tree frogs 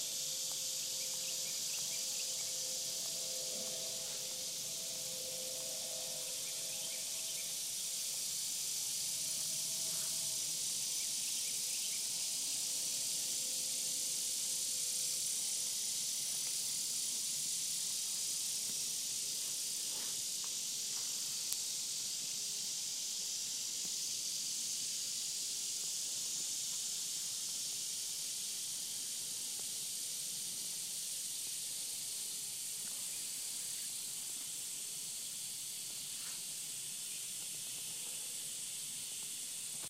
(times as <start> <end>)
0.0 12.9